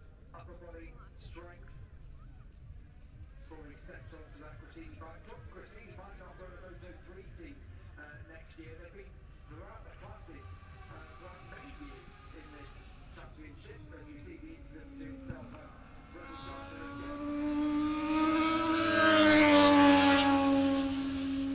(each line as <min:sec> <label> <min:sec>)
0:09.8 moto two free practice three 0:21.5